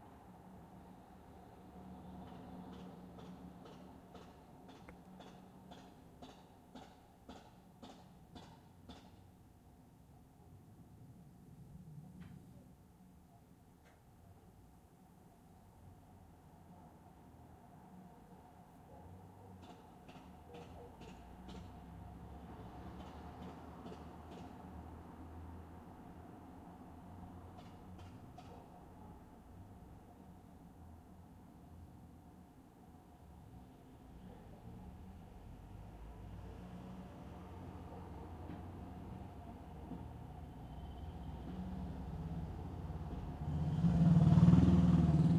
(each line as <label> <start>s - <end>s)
cars passing slow 0.0s - 9.4s
noises in the street of metal objects 0.0s - 45.3s
cars passing slow 15.8s - 45.3s
motorbike passing 41.7s - 45.3s